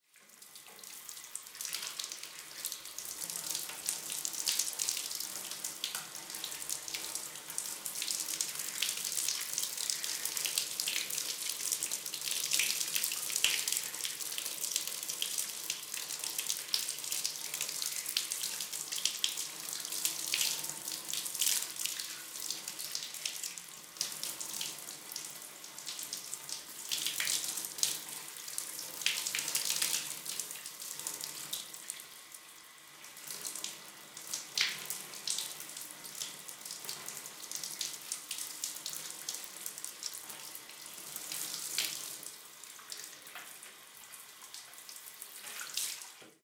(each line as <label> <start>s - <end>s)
shower 0.0s - 46.4s